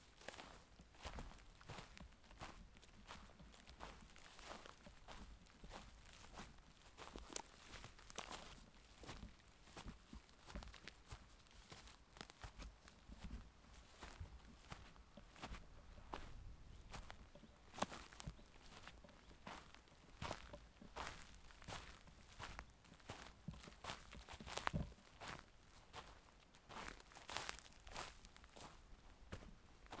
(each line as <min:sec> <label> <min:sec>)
0:00.2 Footsteps on a forest path 0:30.0
0:15.2 birds faintly in the background 0:20.8